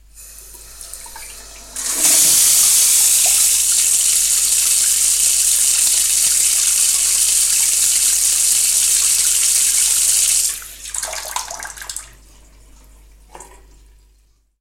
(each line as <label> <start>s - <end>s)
Water Faucet 0.0s - 14.6s
short washing with water 0.3s - 14.0s